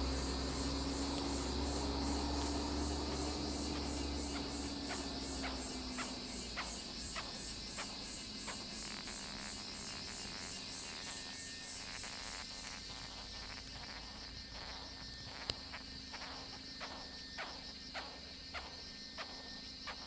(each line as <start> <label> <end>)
0.0 Japanese rhinoceros beetle 20.0